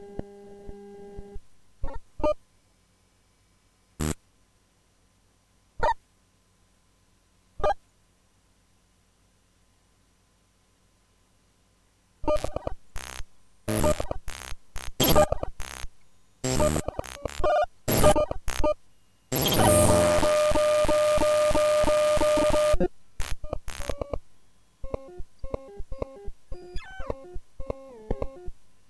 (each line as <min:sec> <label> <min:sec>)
0:04.0 raw data from a random file 0:04.2
0:12.2 raw data from a random file 0:24.2
0:24.8 raw data from a random file 0:28.6